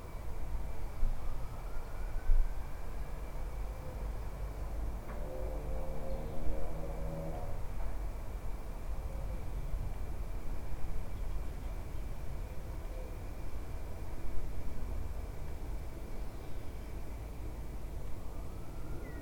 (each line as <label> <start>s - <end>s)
general rumble of traffic 0.0s - 19.2s
birdsong 18.7s - 19.2s